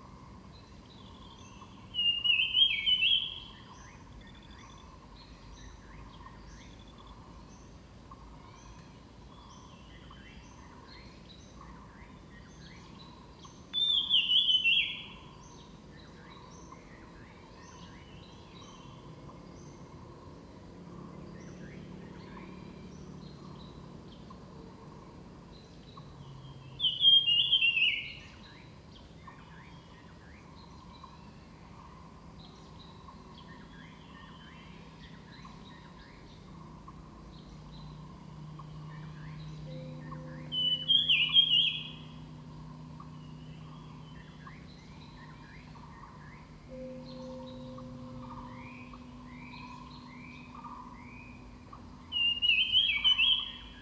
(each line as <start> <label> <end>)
35.4 Birds called 53.8
39.0 Bell 40.8
45.0 Bell 52.1